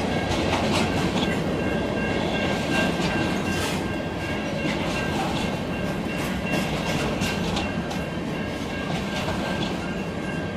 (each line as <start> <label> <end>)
0.0 freight train rumbles past 10.5